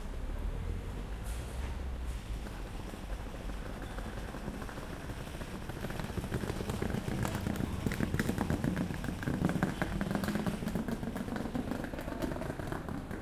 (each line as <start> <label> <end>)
0.0 Train 6.1
0.0 bus 13.2
5.9 crowd 13.2